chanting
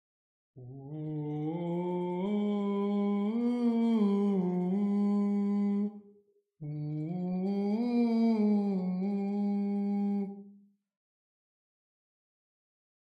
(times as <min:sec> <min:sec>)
0:00.6 0:06.0, 0:06.6 0:10.4